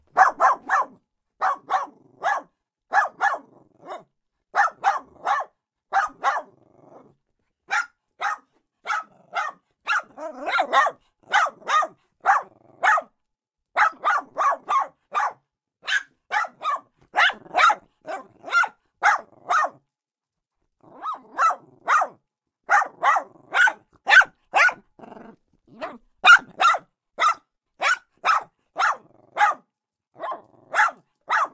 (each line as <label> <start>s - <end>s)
Small Dog Barking 0.1s - 7.0s
Small Dog Barking 7.7s - 13.1s
Small Dog Barking 13.8s - 19.8s
Small Dog Barking 20.8s - 31.5s